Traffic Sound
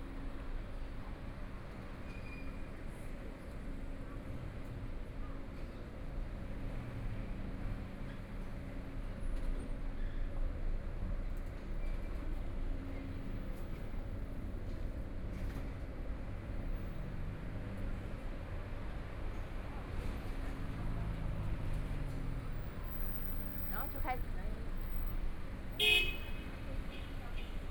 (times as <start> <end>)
12.7 27.7